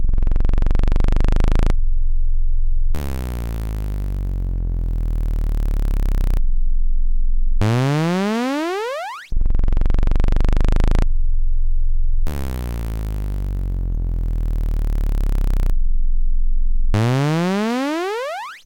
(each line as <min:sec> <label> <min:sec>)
0:00.0 weird, slow, bouncy sort of sound with lots of bass 0:18.6